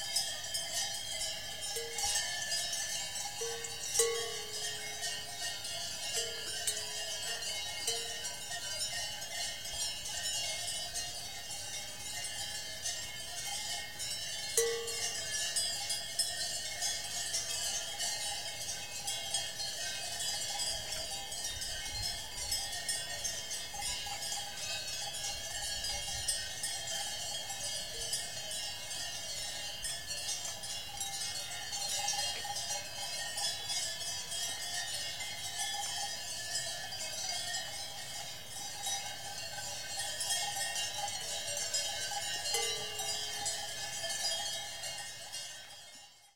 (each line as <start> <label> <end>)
0.0 cowbells 46.3